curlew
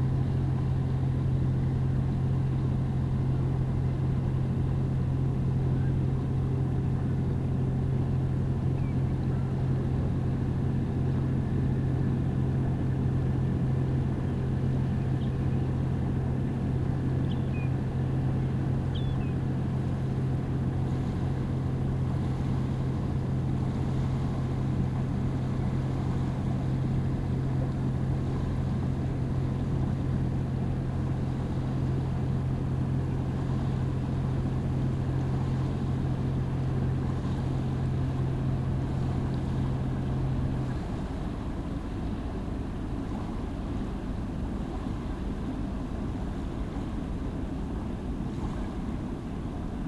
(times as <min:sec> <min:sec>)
0:18.9 0:19.4